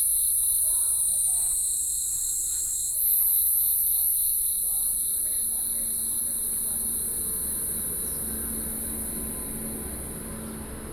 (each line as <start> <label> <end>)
0.0 Insect sounds 10.9
6.3 traffic sound 10.9